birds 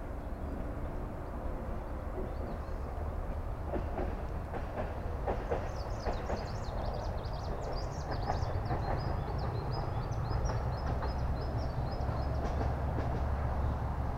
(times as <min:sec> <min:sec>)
0:05.4 0:13.9